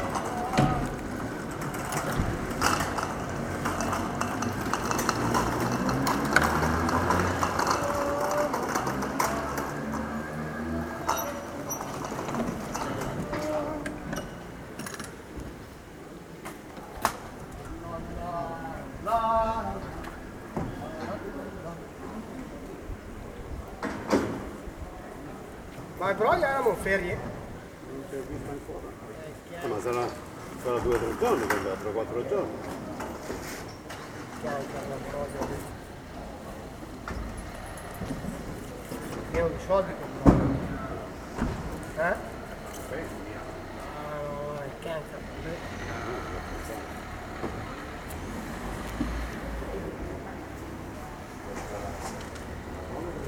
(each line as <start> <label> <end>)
0.0 others talking each other 53.2
0.0 sellers are closing the market, packing up their moving booths 53.2